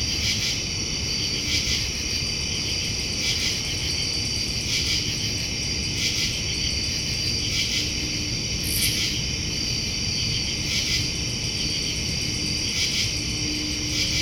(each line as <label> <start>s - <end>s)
crickets 0.0s - 14.2s
hum of an AC fan 0.0s - 14.2s